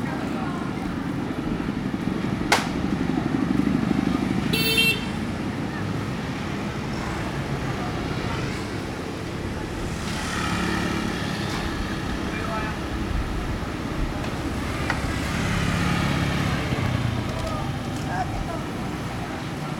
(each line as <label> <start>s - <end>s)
Walking through the traditional market 0.0s - 4.5s
Walking through the traditional market 5.1s - 19.7s